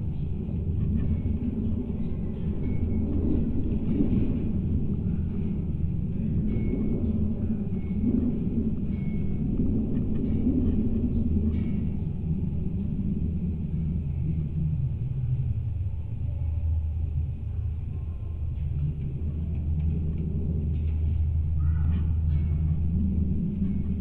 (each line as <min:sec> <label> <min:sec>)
0:00.0 metal sculptures 0:24.0